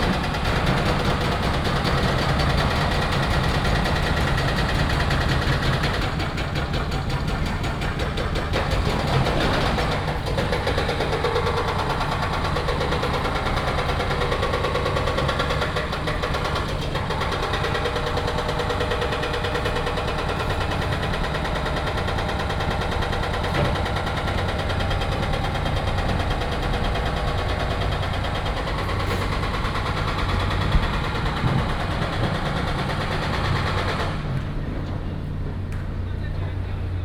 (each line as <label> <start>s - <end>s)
Construction sound 0.0s - 37.0s